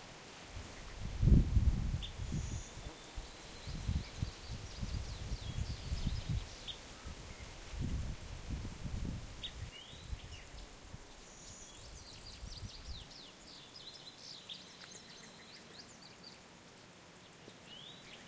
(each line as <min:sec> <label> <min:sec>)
0:00.0 rush of wind 0:13.3
0:00.6 insects 0:18.2
0:09.4 birds 0:18.2